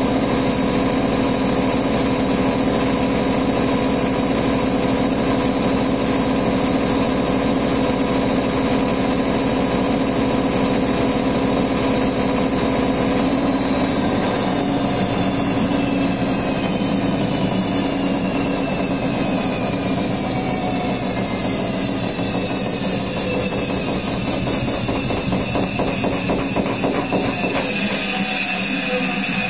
washing machine on a fast spin 0:00.0 - 0:29.4

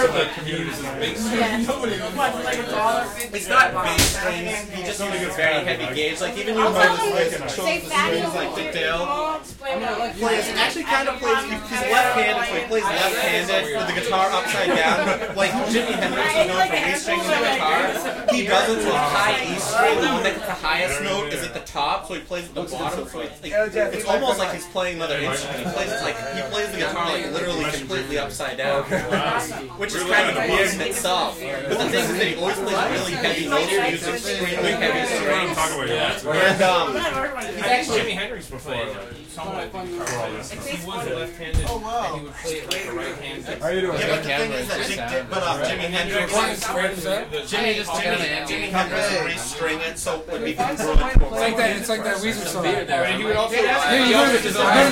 crowd int small group young people 0:00.0 - 0:54.9

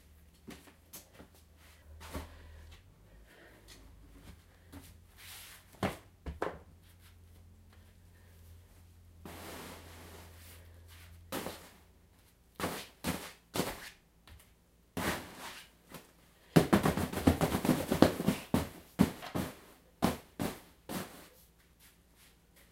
Hits on stuffed animals 0:16.6 - 0:21.1

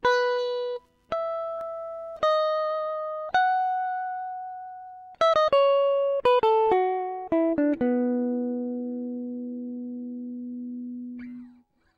guitar melody 8 0:00.0 - 0:11.9

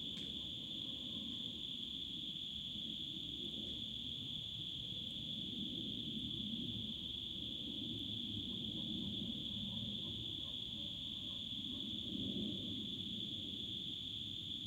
crickets singing 0:00.0 - 0:14.6
distant dog barkings 0:08.6 - 0:12.0

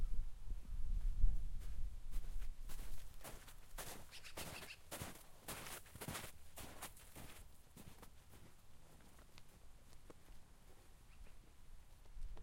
Feet walking in the snow 0:01.6 - 0:10.9

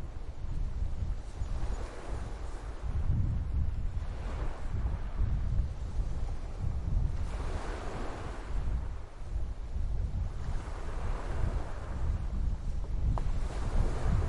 waves 0:00.0 - 0:14.2

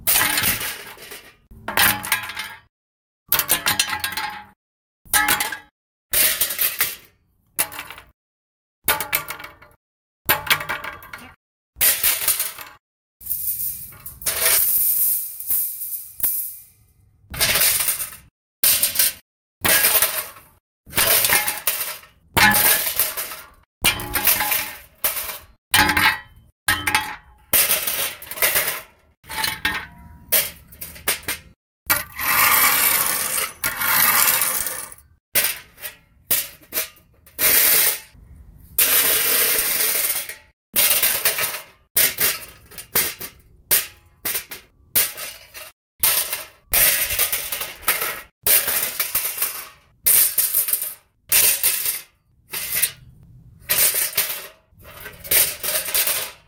dropping various metal tools on asphalt 0:00.0 - 0:02.7
dropping various metal tools on asphalt 0:03.3 - 0:08.2
dropping various metal tools on asphalt 0:08.9 - 0:38.2
dropping various metal tools on asphalt 0:38.8 - 0:56.4

